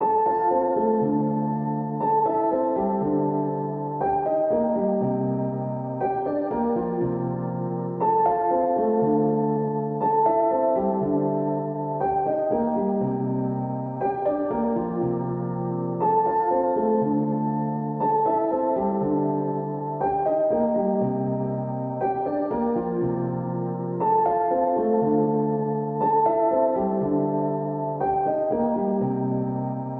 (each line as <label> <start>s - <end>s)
piano 0.0s - 29.9s